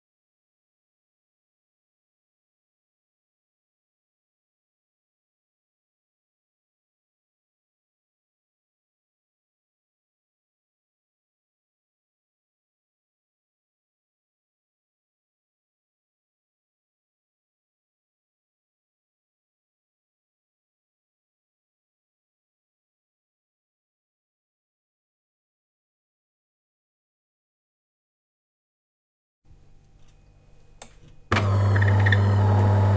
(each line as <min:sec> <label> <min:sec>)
0:31.3 coffee machine 0:32.9